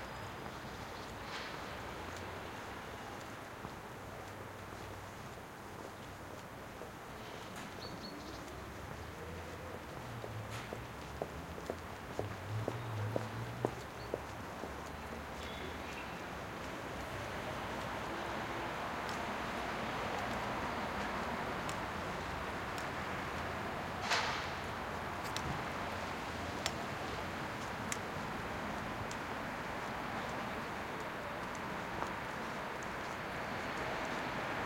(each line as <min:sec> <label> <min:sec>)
0:00.0 traffic 0:34.6